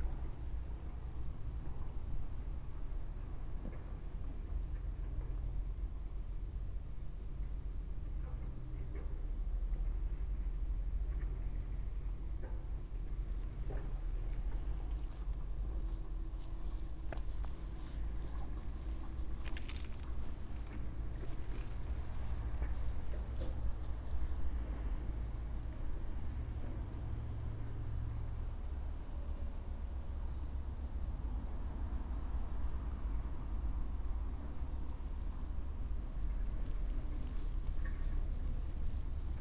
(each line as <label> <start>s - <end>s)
dry leaves 17.8s - 21.9s